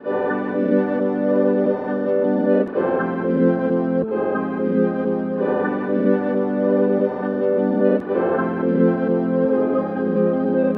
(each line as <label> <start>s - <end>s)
Piano Chord Progression 0.0s - 10.7s